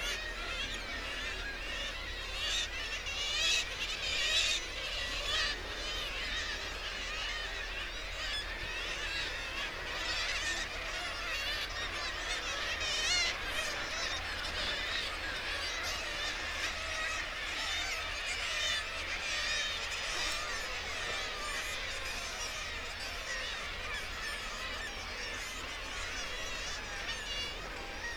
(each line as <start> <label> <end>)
0.0 kittiwake calls and flight calls 28.1